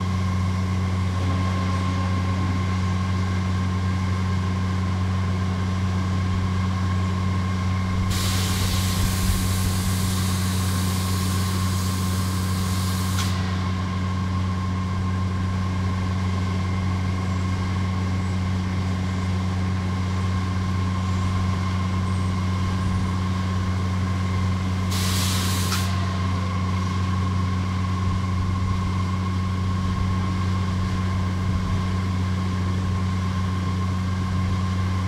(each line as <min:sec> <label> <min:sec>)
0:00.0 grain silo loader motor 0:35.0
0:08.0 air release 0:13.9
0:24.8 air release 0:26.4